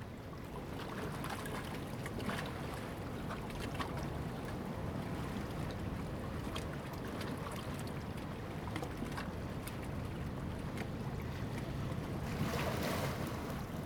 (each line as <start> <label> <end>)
11.2 Waves and tides 13.8